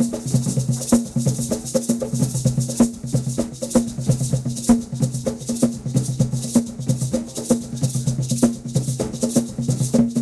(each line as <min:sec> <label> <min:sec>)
0:00.0 drumming 0:10.2
0:00.0 sisera 0:10.2